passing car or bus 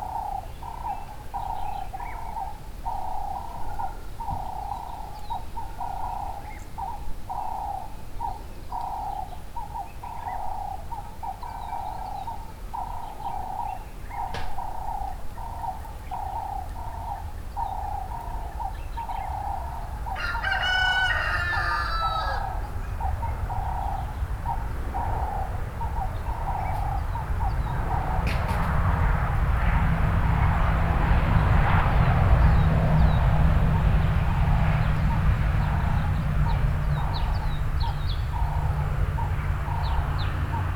11.8 40.7

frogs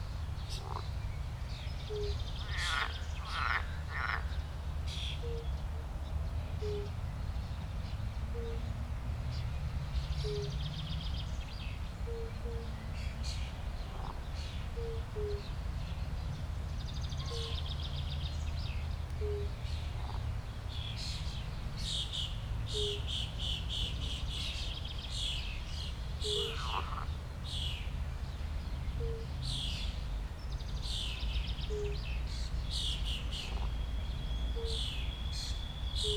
0.5 1.0, 1.9 4.4, 19.2 20.3, 26.2 27.1, 33.0 33.8

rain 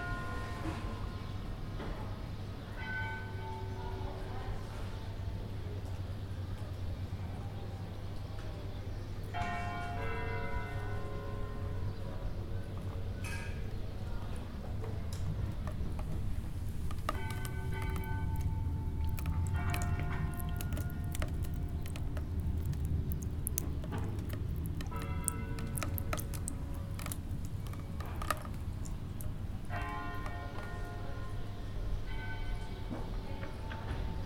16.9 30.8

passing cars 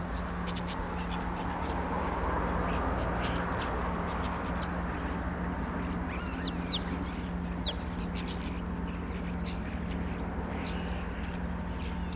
0.0 6.2

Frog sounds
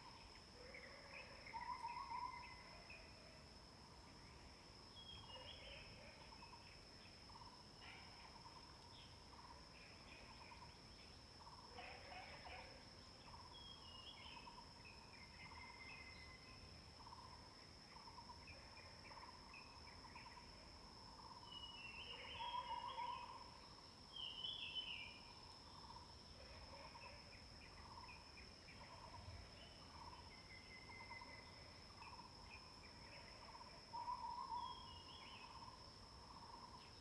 11.7 12.8

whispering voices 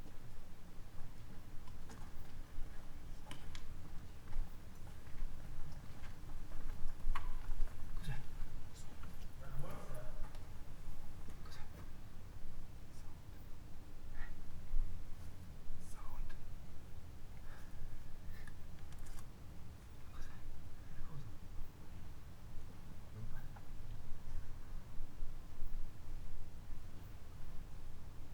8.0 10.5, 11.4 11.9, 15.8 16.4, 20.0 21.4

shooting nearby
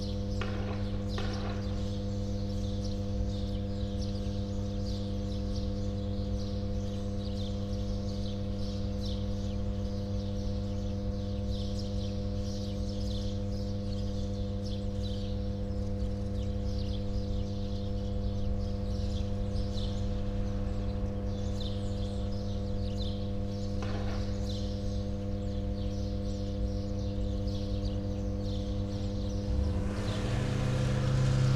0.2 2.4, 23.6 25.3

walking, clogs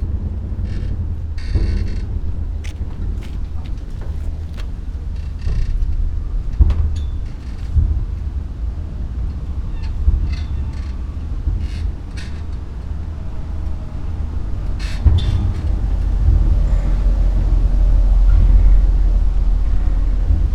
1.6 5.6

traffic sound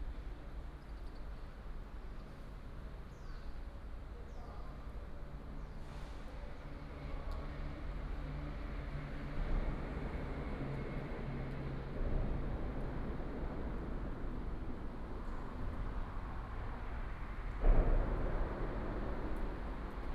5.2 20.1

